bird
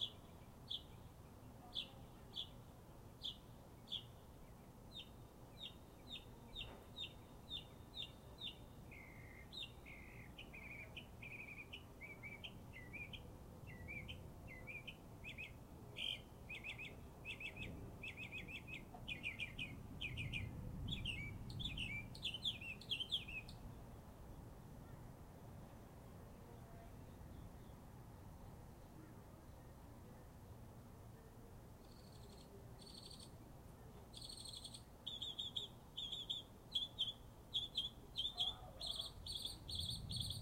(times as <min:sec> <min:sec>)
0:00.0 0:02.6, 0:03.2 0:23.7, 0:31.8 0:40.4